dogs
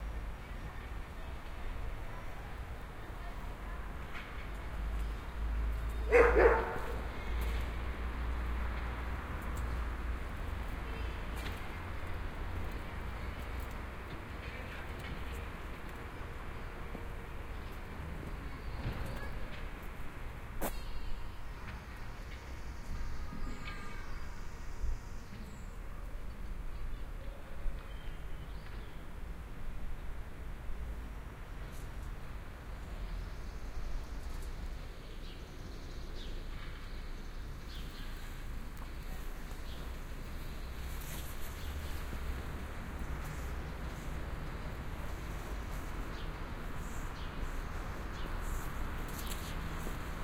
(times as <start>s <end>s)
6.1s 7.0s